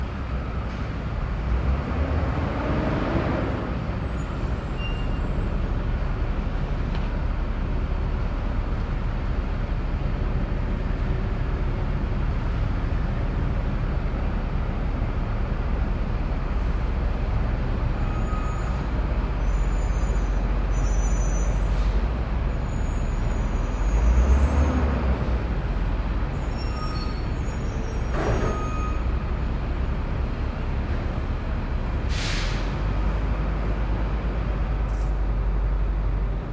bus or truck coming to a stop with squeaky brakes 0:00.0 - 0:36.5

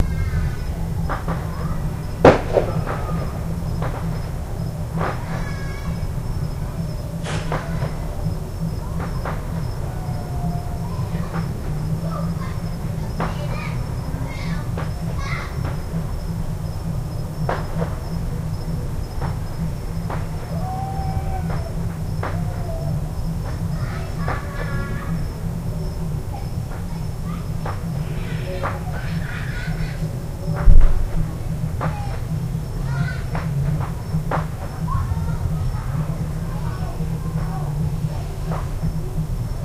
fireworks 0:00.0 - 0:25.4
firecrackers 0:00.0 - 0:39.6
party in the distance 0:00.0 - 0:39.6
fireworks 0:28.4 - 0:32.3

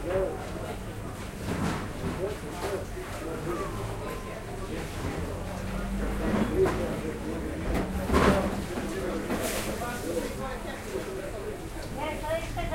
people 0:00.0 - 0:12.7

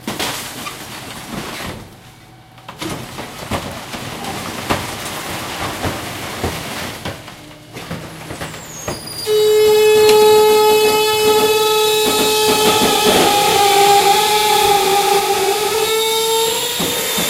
dump truck compressing/destroying bulk trash 0:00.0 - 0:17.2
truck engine 0:00.6 - 0:17.2
wood breaking 0:02.7 - 0:09.0

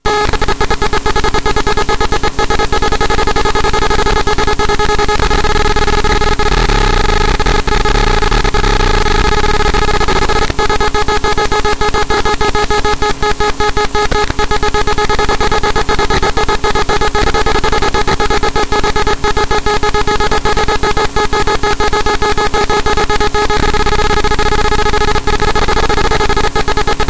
disturbing binary pulses 0:00.2 - 0:27.0

